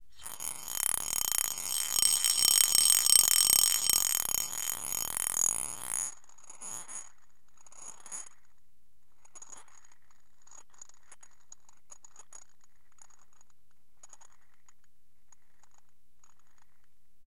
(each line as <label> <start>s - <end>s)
swirling marbles around bowl 0.2s - 6.1s